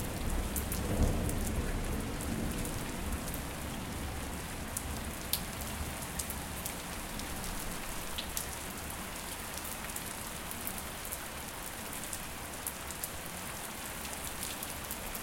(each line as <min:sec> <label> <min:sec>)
0:00.0 rain 0:15.2
0:00.4 thunder 0:03.3